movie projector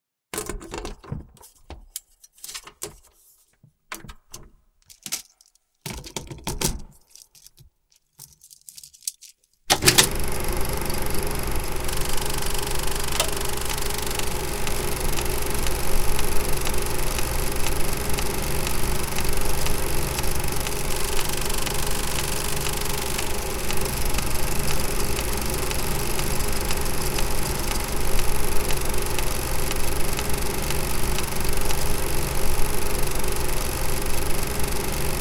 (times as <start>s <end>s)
9.7s 35.2s